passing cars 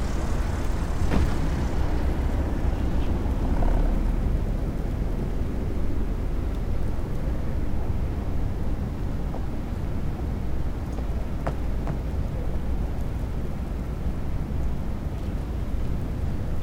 0.0s 6.8s

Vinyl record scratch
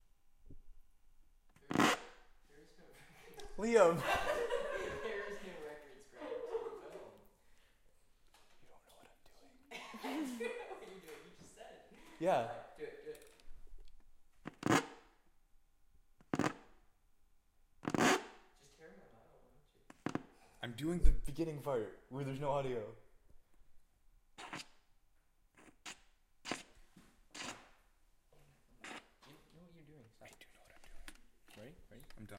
1.7s 2.2s, 24.4s 24.8s, 27.4s 27.8s, 28.8s 29.2s

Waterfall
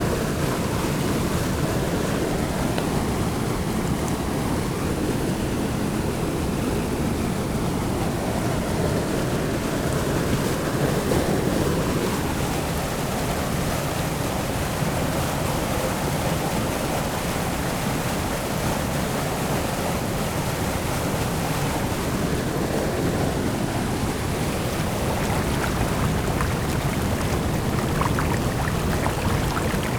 23.7s 29.9s

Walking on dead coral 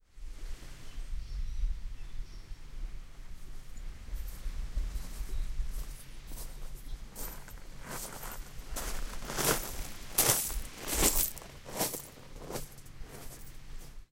4.1s 14.0s

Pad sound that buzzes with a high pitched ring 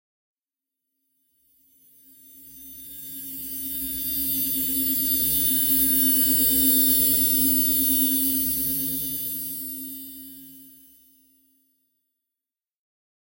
1.6s 11.4s

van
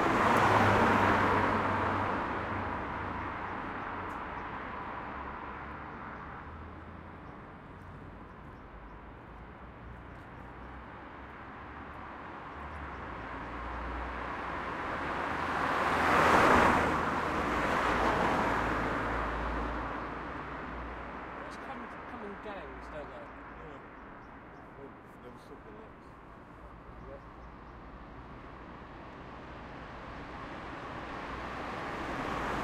0.0s 19.2s

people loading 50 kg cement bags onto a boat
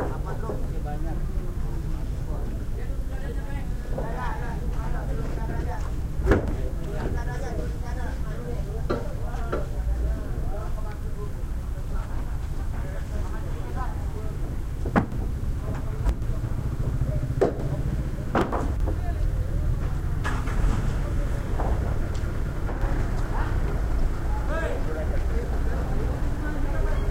12.0s 23.9s

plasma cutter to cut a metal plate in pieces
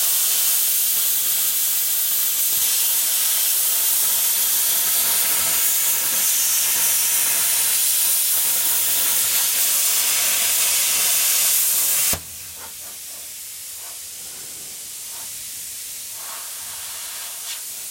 0.0s 13.0s

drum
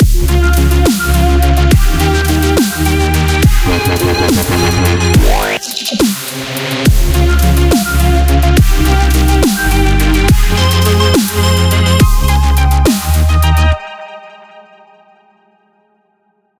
3.5s 6.3s

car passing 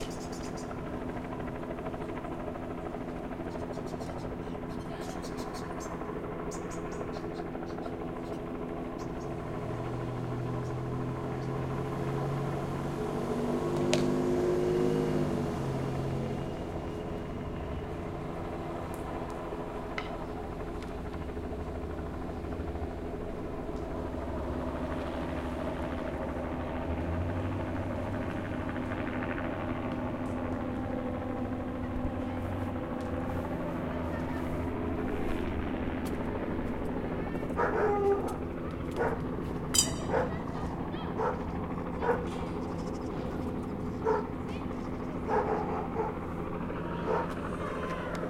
9.6s 16.8s

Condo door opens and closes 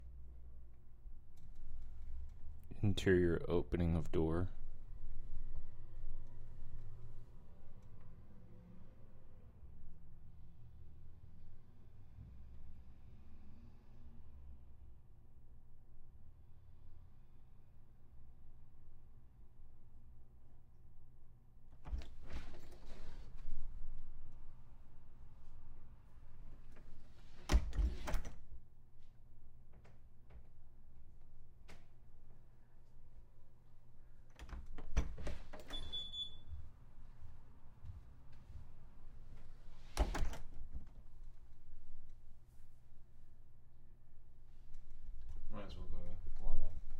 21.7s 24.0s, 26.4s 28.5s, 34.2s 36.7s, 39.3s 41.3s

